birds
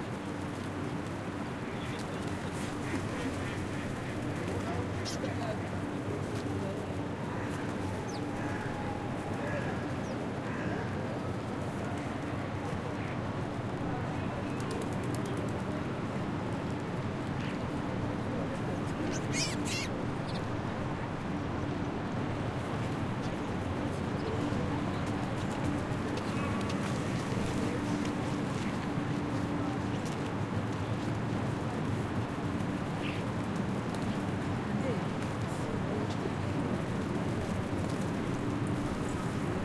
1.5 11.4, 18.8 20.6

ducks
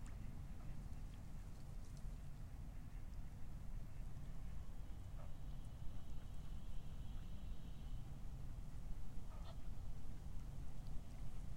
9.2 9.8

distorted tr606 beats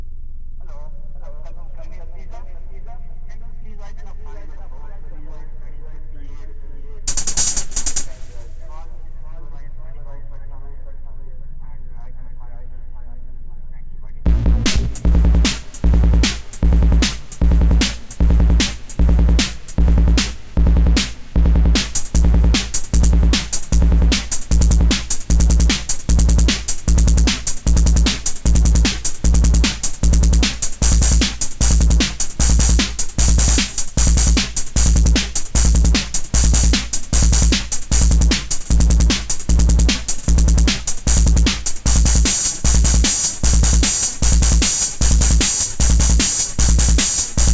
7.1 9.7, 14.3 47.5

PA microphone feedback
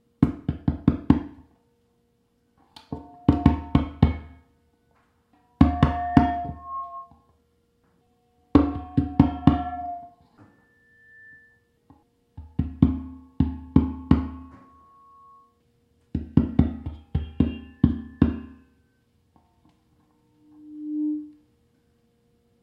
2.9 4.5, 5.5 7.3, 8.1 11.8, 13.8 15.6, 16.8 19.1, 20.0 21.9

